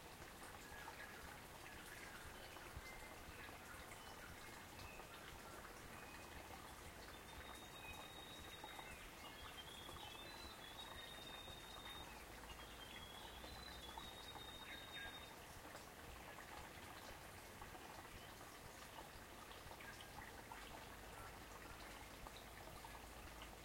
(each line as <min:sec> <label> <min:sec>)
0:00.0 babbling brook 0:23.6
0:00.5 birds singing 0:15.4